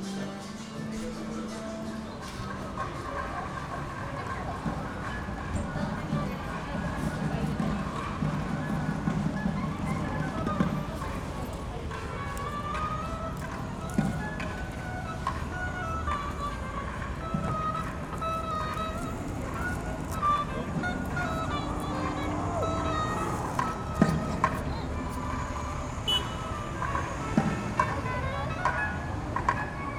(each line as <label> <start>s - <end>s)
cars 0.0s - 29.9s
street noise 0.0s - 29.9s
saxophonist 6.9s - 29.3s